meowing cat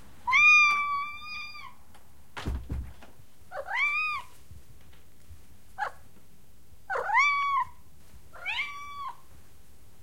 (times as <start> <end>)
3.5 4.3, 6.9 7.8, 8.4 9.2